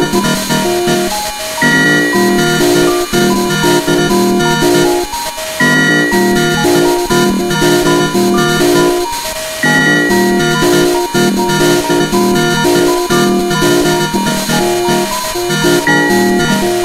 circuit bent Yamaha PSR-12 keyboard 0.0 - 16.8

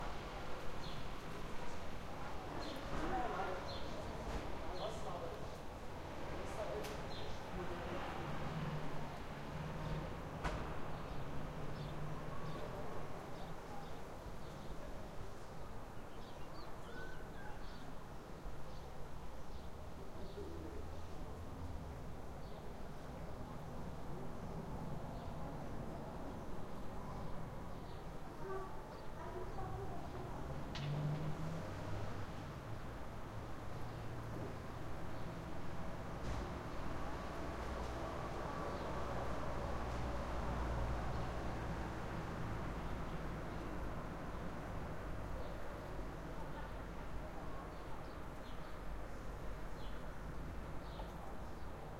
Wind 0.0 - 51.9
typical sound of a city 0.0 - 51.9
A car is passing 7.7 - 12.5
people talking 29.2 - 30.6
A car is passing 29.8 - 45.4

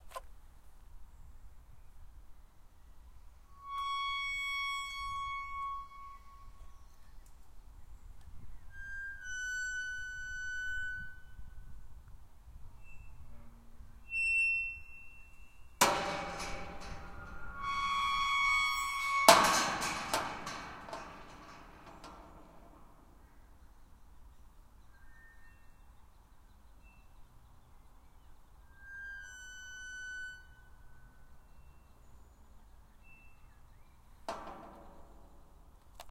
Gate 3.5 - 7.0
Gate 8.7 - 11.7
Gate 12.7 - 23.3
Gate 28.7 - 32.0
Gate 33.0 - 36.1

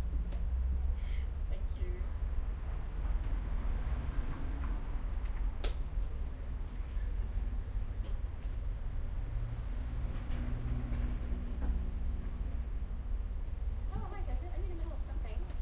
road noise 0.0 - 15.3
people speaking 1.1 - 2.1
people speaking 13.9 - 15.6

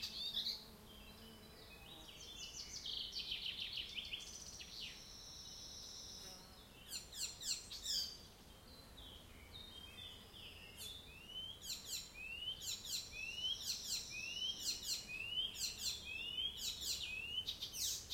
birds singing 0.0 - 18.1

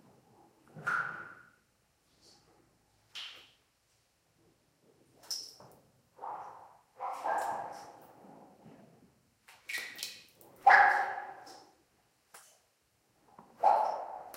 water dripping on to standing water 9.7 - 10.5

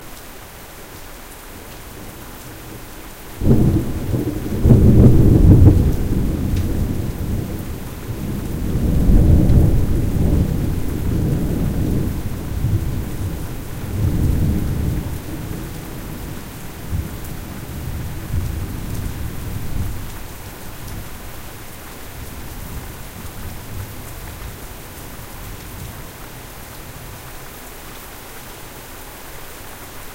rain 0.0 - 30.1
thunder clap 3.4 - 20.0

